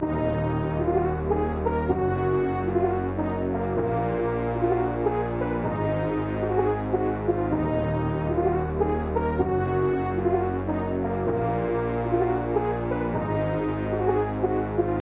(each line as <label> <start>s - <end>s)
trumpet 0.0s - 15.0s
sax 0.0s - 15.0s
trombone 0.0s - 15.0s